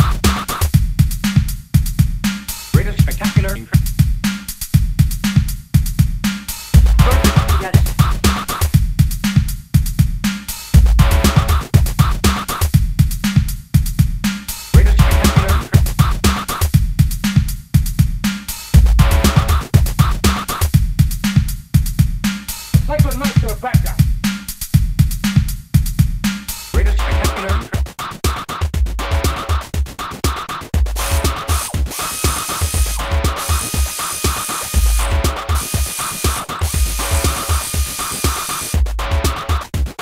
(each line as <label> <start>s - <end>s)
drum 0.0s - 40.0s